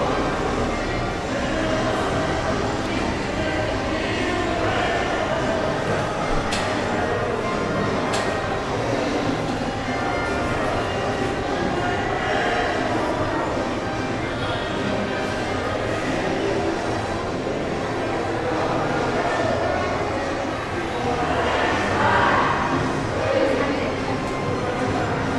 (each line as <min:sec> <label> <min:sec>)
0:00.0 bus 0:19.2